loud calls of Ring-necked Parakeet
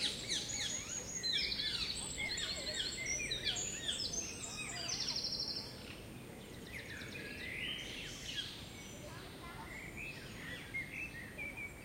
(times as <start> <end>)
0.0 5.9